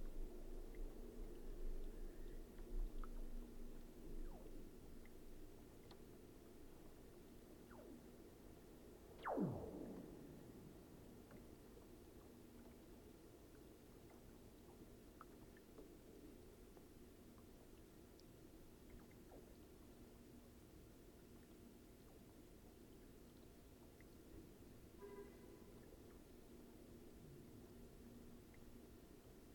0.0s Energy Center hum 12.4s

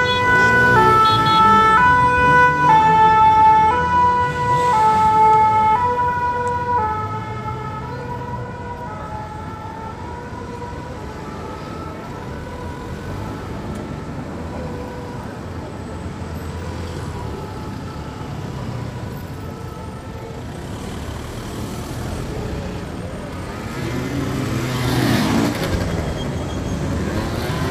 0.0s Firemen stuck in traffic 27.7s

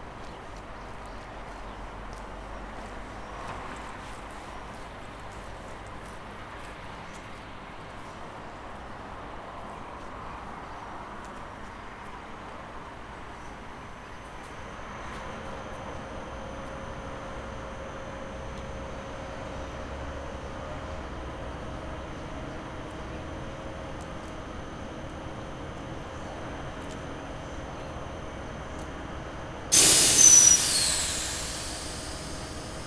14.2s people go by, entering or exiting the train 32.8s
14.6s train getting ready to leave 32.8s

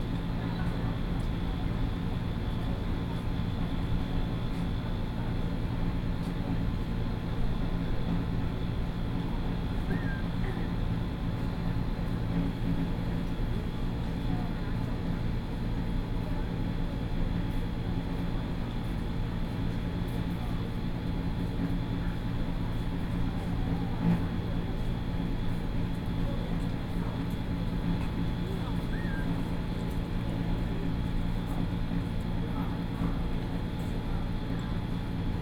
0.0s Noise air conditioning unit 35.4s

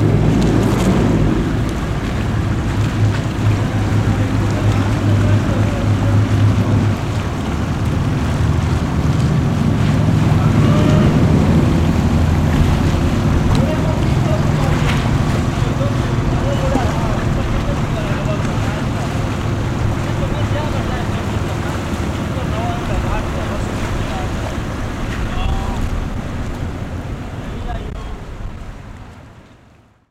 3.1s People 7.5s
9.9s People 26.1s
27.3s People 28.3s

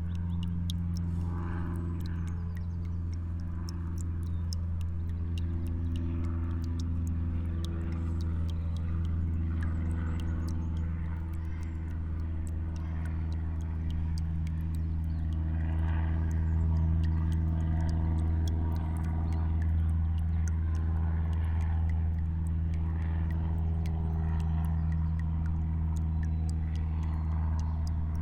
0.0s River dripping 28.2s

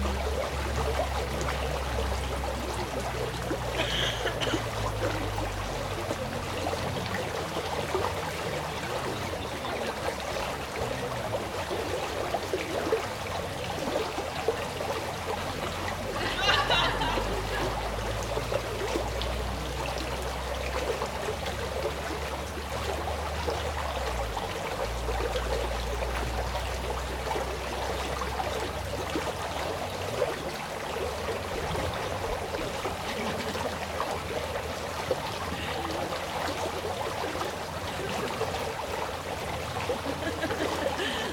0.0s campers chat and laugh 14.2s
0.0s stream 41.3s
15.2s campers chat and laugh 19.6s
31.6s campers chat and laugh 34.4s

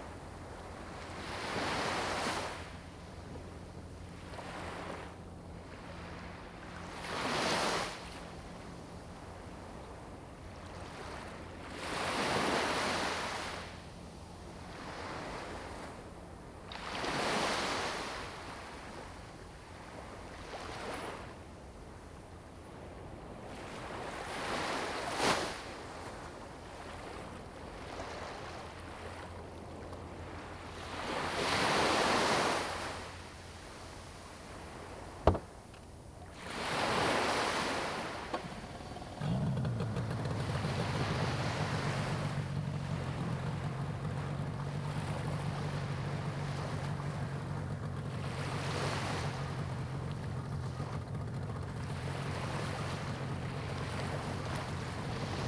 0.0s waves 55.4s

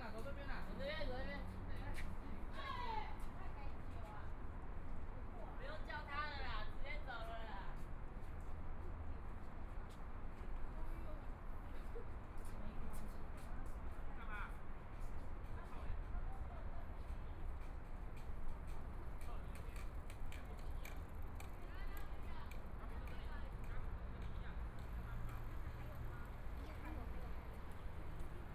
14.7s Walking through the park 28.5s
17.4s Traffic Sound 28.5s

